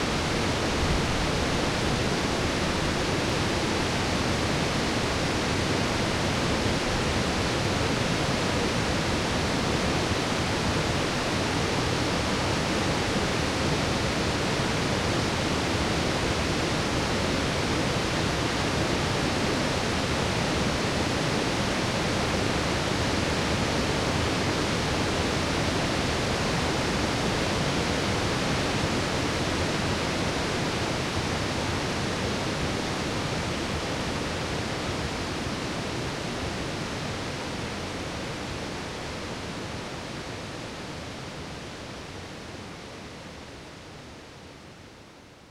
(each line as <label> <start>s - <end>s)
rapids 0.0s - 44.6s